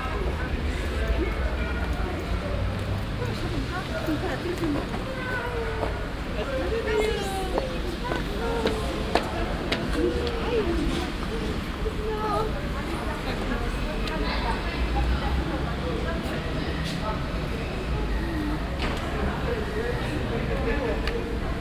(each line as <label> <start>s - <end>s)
people 0.0s - 21.6s